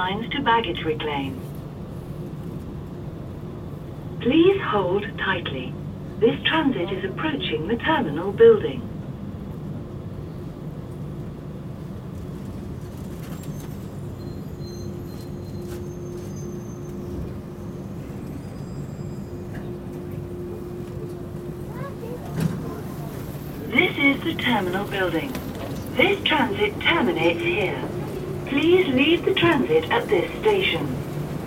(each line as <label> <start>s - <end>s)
airport transit 0.0s - 31.4s